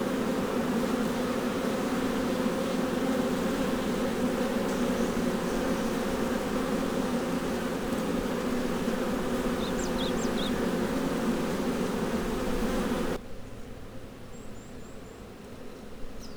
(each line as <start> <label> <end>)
0.0 bees become somewhat disturbed and defensive 13.2